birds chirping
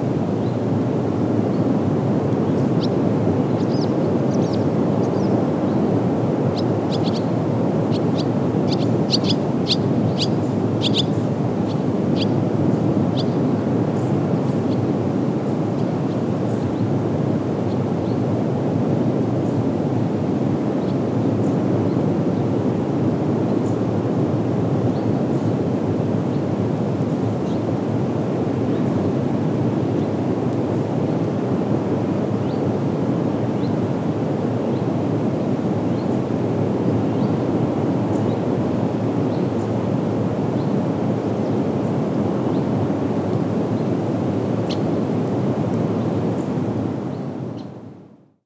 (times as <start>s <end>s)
6.5s 13.4s